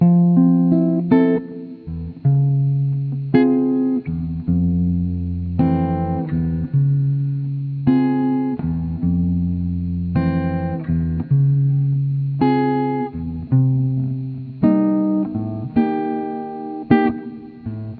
0.0s guitar 17.9s

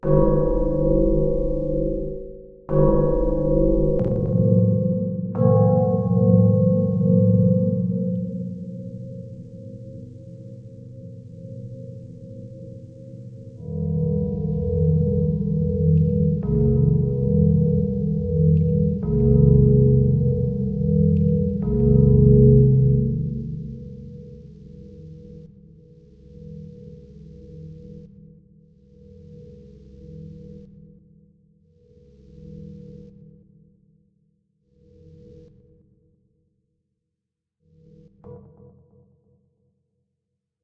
13.6s deep pad sounds 24.7s

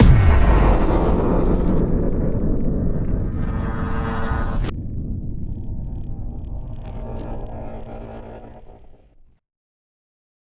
0.0s Impact 7.9s
0.0s rumble 9.4s

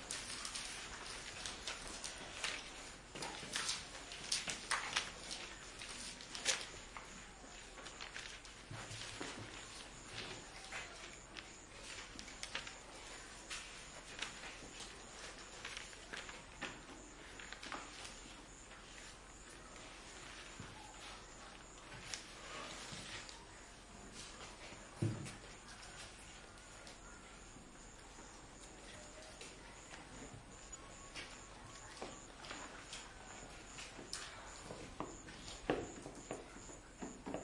0.0s paper noise 35.6s
0.0s people studying paper noise whispering 37.4s

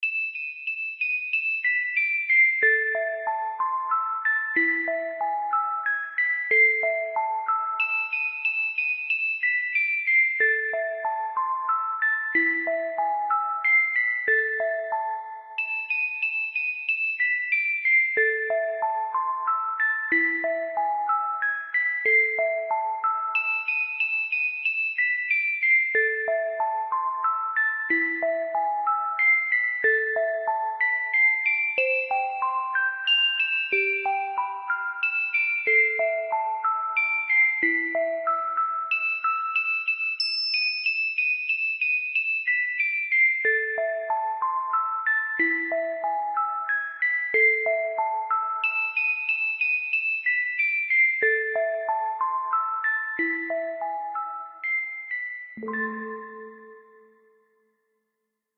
0.0s music box 57.6s

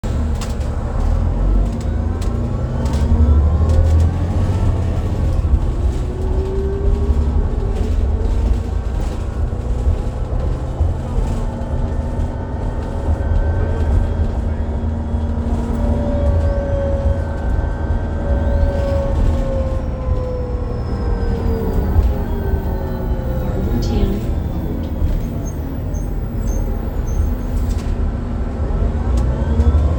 0.0s engine and transmission sounds 29.9s
0.0s transit bus 29.9s

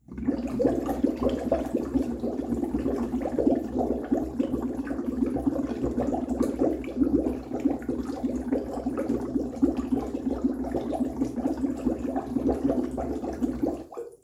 0.0s Medium bubbles gurgling 14.2s

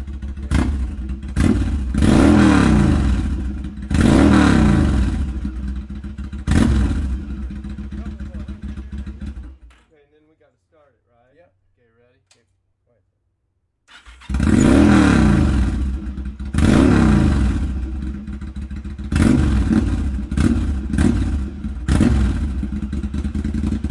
0.0s Drive by motorcycle 9.8s
1.4s revving motor 5.3s
13.9s Drive by motorcycle 23.9s
14.0s revving motor 17.8s
19.1s revving motor 22.8s

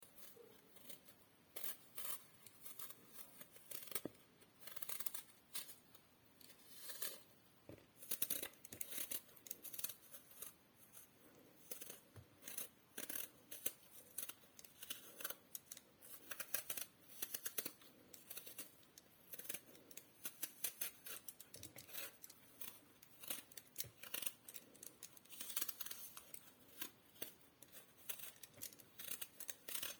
0.0s Peeling an apple with an apple peeler 5.8s
6.5s Peeling an apple with an apple peeler 7.3s
8.0s Peeling an apple with an apple peeler 29.9s

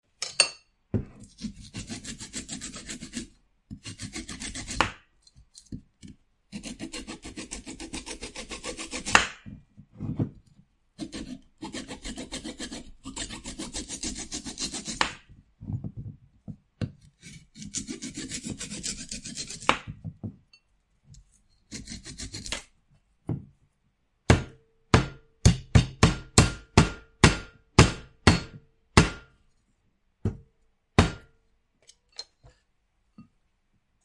6.6s Cutting coconut or something hard 9.4s
11.0s Cutting coconut or something hard 15.3s
17.2s Cutting coconut or something hard 19.9s
21.7s Cutting coconut or something hard 22.7s

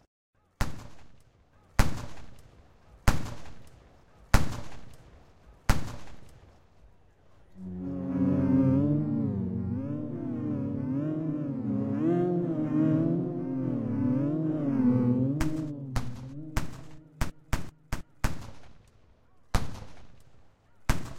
7.6s violin 17.2s

